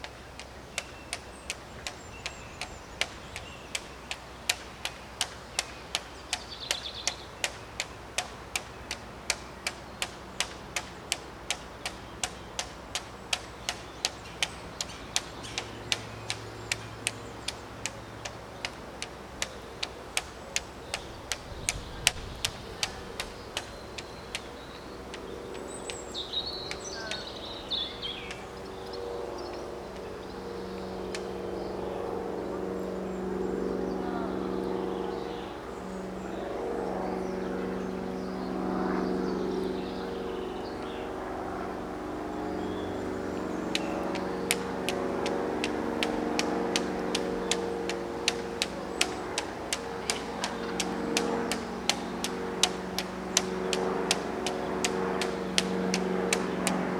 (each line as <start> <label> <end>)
0.0 St George flag of England was fluttering 40.3
0.0 Copper Beech was fluttering in the breeze 56.9
13.3 Jackdaws nesting in the bell tower were chattering 56.9
41.1 St George flag of England was fluttering 56.9
43.7 lanyard flapped and clacked 56.9